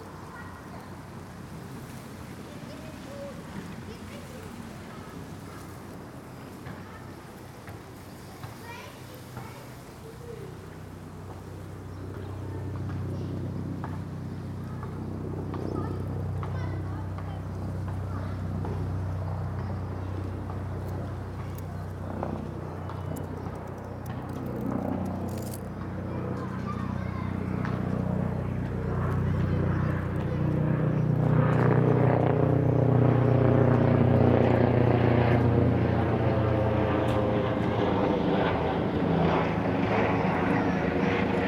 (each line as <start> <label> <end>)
0.0 helicopter drones 41.4